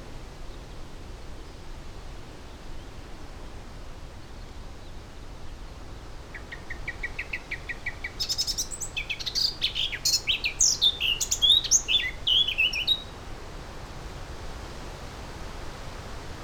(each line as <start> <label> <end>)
6.2 pheasant 13.1
6.3 blackcap song 13.1
6.3 goldfinch 13.1